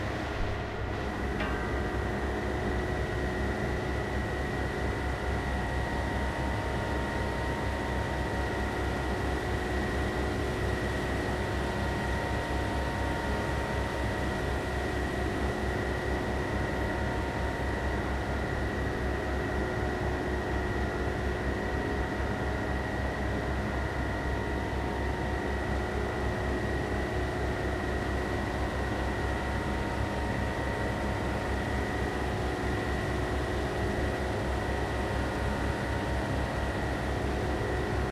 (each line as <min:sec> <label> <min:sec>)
0:00.0 Fan Ventilation 0:38.1